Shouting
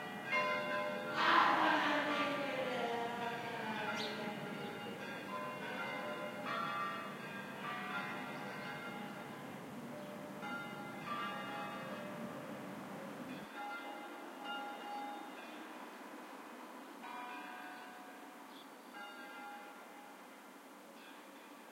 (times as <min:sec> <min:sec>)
0:01.2 0:04.4